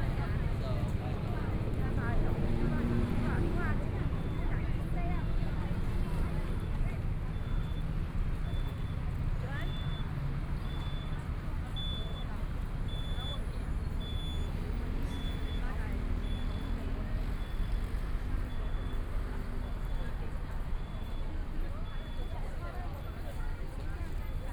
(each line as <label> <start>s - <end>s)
Traffic Sound 0.0s - 7.3s
crowd waiting to cross the road 0.0s - 24.5s
Traffic Sound 10.1s - 24.5s